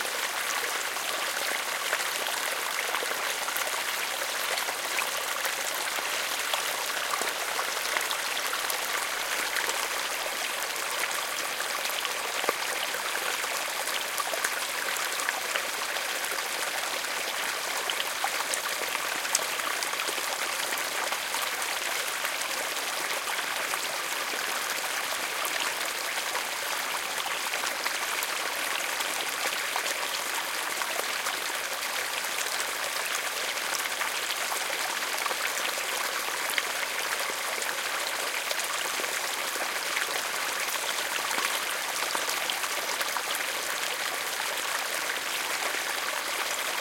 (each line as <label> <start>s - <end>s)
rain 0.0s - 46.8s
small stream 0.0s - 46.8s
waterfall 0.0s - 46.8s